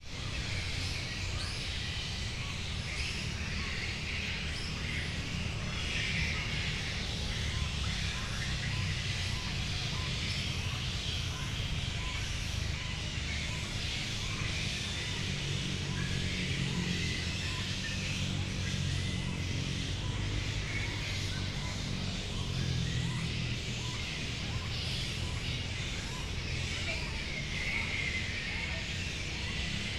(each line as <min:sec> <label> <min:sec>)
0:00.0 noise and hum from the town 0:29.9
0:00.0 flying foxes were screaming and flying 0:29.9